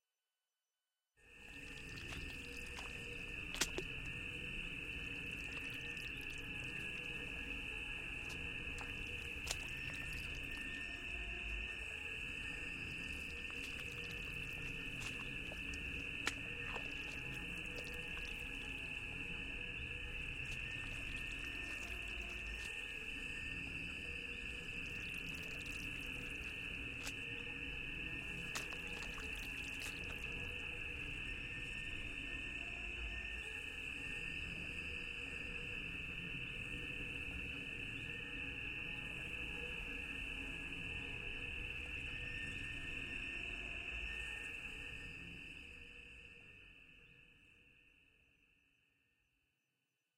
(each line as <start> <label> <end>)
1.9 footsteps moving around in the organic soup 4.2
8.2 footsteps moving around in the organic soup 10.7
13.0 footsteps moving around in the organic soup 18.9
20.3 footsteps moving around in the organic soup 22.9
25.1 footsteps moving around in the organic soup 27.5
28.2 footsteps moving around in the organic soup 30.6